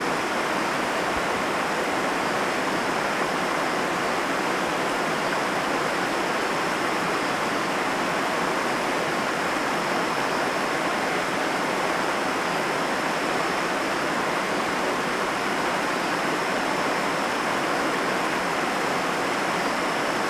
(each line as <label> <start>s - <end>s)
River flowing downstream over rocks 0.0s - 20.2s